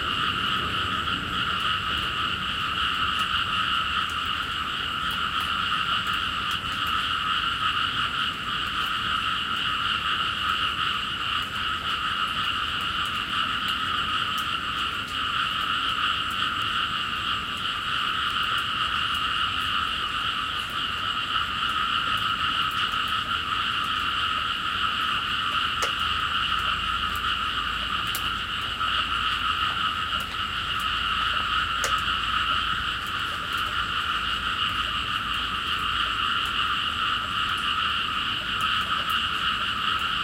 distant cars 0.0 - 7.2
Frogs in the Ricefields 0.0 - 40.2
Rain decreasing 0.0 - 40.2

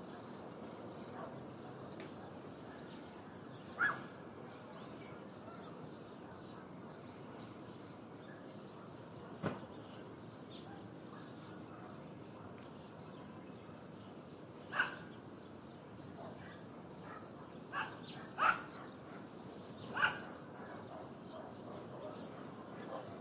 birds 0.0 - 23.2

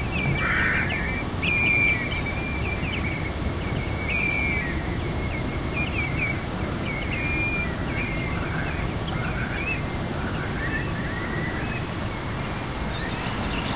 sparrows 0.0 - 13.7
tide 0.0 - 13.7
crow 0.2 - 1.2

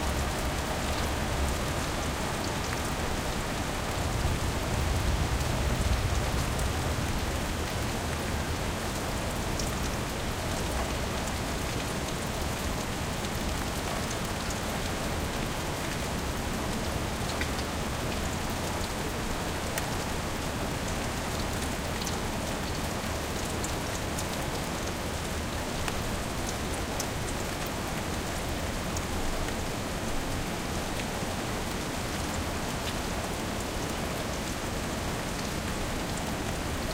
Light rain 0.0 - 36.9

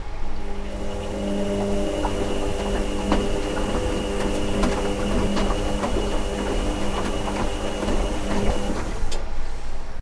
washing machine slow spin 0.0 - 10.0

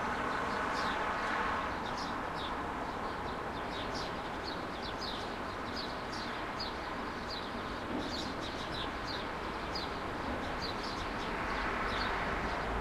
traffic 0.0 - 12.8
birds 0.0 - 12.8

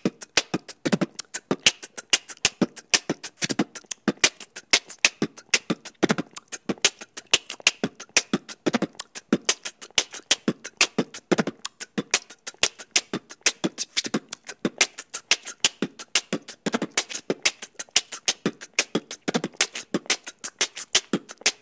beatboxing beat 0.0 - 21.6

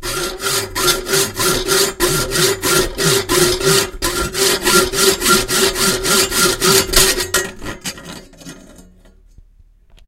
hacksaw saws metal 0.0 - 8.8

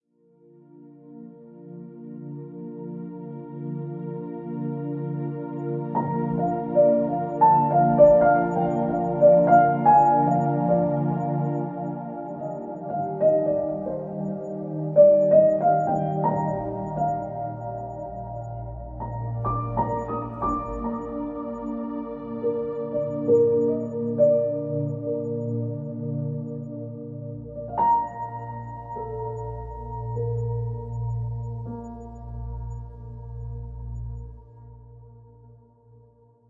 piano 0.2 - 36.4

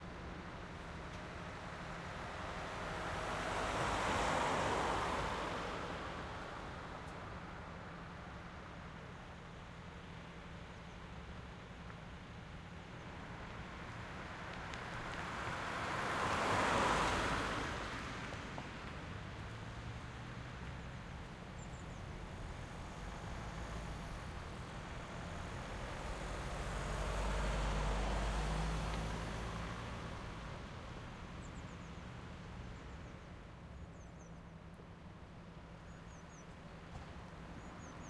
Car Passes Slow Speed 0.0 - 38.0

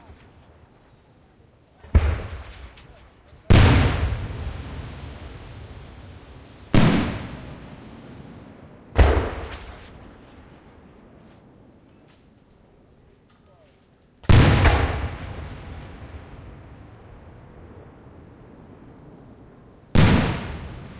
flat smacky booms 1.8 - 11.2
big round booms 1.8 - 11.2
fizzles 2.0 - 10.8
flat smacky booms 14.2 - 19.0
big round booms 14.2 - 20.9
flat smacky booms 19.9 - 20.9

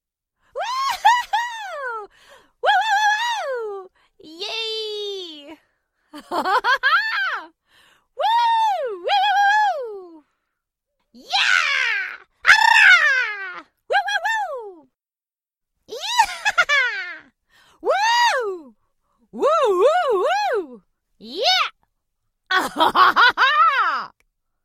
voice 0.6 - 5.6
voice 8.2 - 10.2
voice 12.8 - 14.9
voice 17.8 - 18.7
voice 19.4 - 21.7

